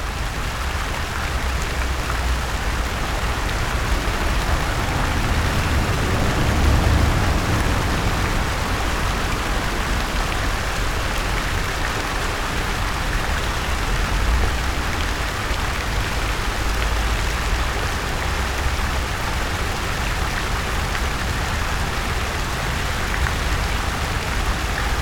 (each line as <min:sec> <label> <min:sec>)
0:00.0 fountain 0:25.0